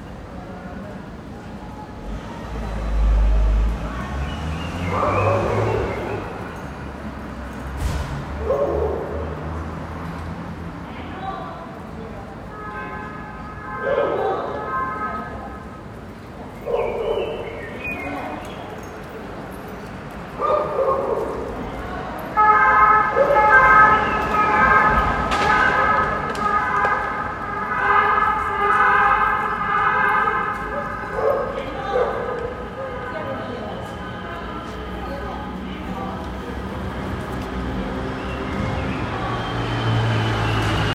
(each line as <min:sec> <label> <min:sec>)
0:00.0 People talking 0:09.3
0:00.0 cars 0:40.9
0:04.5 dogs 0:06.7
0:08.4 dogs 0:09.5
0:10.7 People talking 0:40.9
0:13.8 dogs 0:14.7
0:16.5 birds 0:19.4
0:16.6 dogs 0:19.2
0:20.3 dogs 0:21.9
0:30.6 dogs 0:33.9